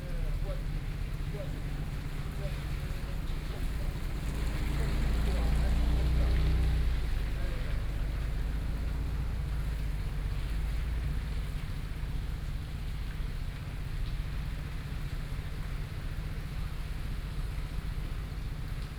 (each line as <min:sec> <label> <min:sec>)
0:00.0 traffic noise 0:11.5
0:00.0 Conversation between a taxi driver 0:11.7
0:00.0 Rainy Day 0:18.9